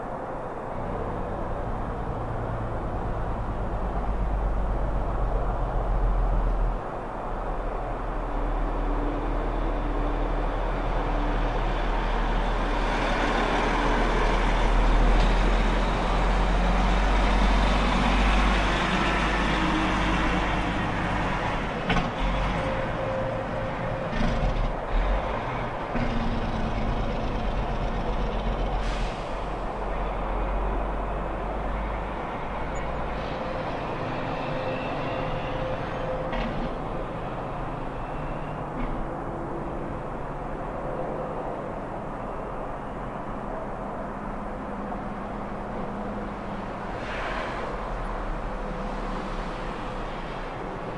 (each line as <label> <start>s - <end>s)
big truck doing his thing 7.2s - 41.6s